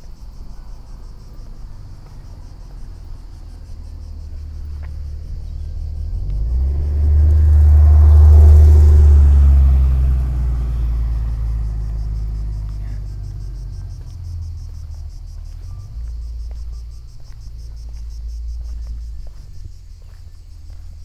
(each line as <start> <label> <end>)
0.0 cicades in the overall olive trees 21.0
1.3 steps on the stone cobble foot way 5.5
14.0 steps on the stone cobble foot way 21.0